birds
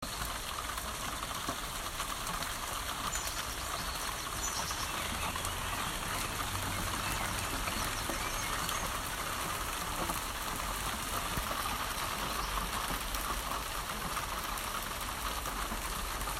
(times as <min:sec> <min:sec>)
0:02.7 0:10.2, 0:10.8 0:13.1